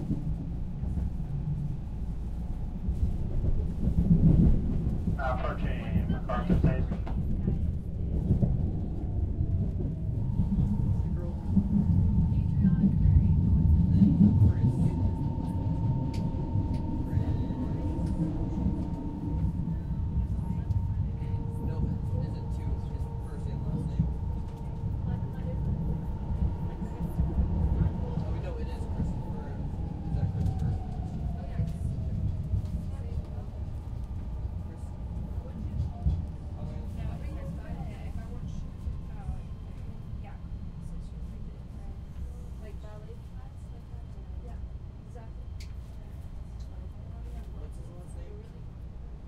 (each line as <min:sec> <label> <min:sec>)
0:00.0 train sounds 0:49.2
0:00.0 conversation of the people around us 0:49.2
0:05.2 announcements 0:07.4
0:10.1 announcements 0:42.6